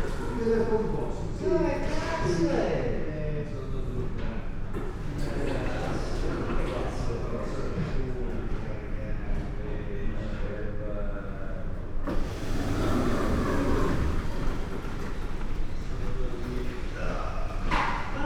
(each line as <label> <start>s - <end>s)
slide gates 12.0s - 16.4s
beds on wheels 12.0s - 16.6s